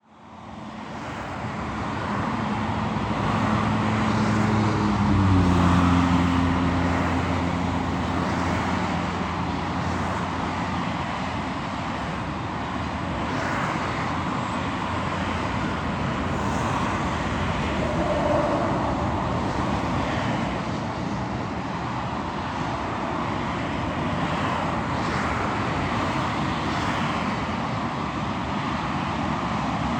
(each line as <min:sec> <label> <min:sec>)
0:00.0 cars passing beneath a bridge/viaduct 0:29.9